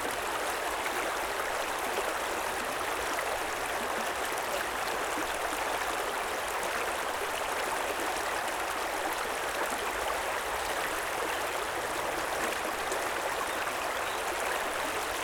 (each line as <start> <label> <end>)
0.0 Running creek 15.2